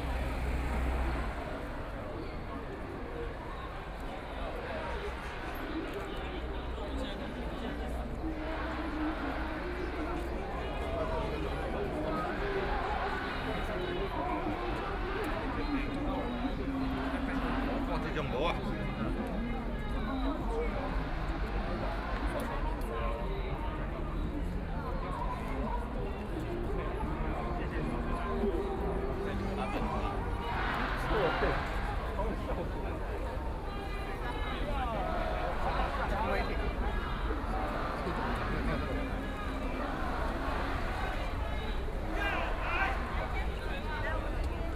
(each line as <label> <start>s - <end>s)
protest 26.8s - 44.7s